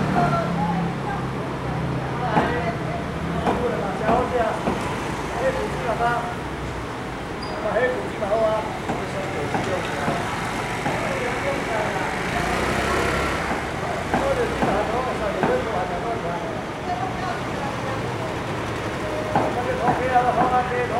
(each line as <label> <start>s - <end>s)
Traffic Sound 0.0s - 20.9s
Walking through the traditional market 0.0s - 20.9s